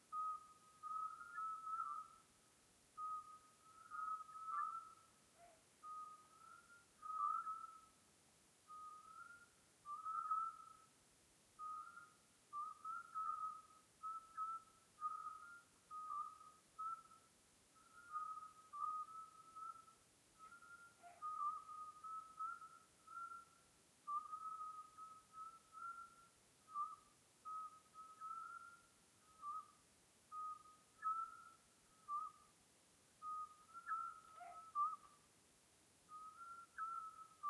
Scop Owls (Otus scops) singing 0.0 - 35.3
Scop Owls (Otus scops) singing 36.0 - 37.4

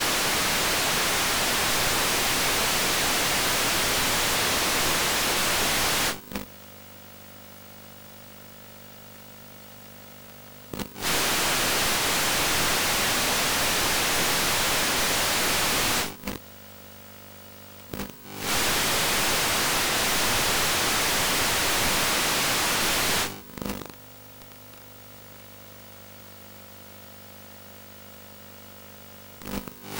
CRT channel tuning 0.0 - 6.2

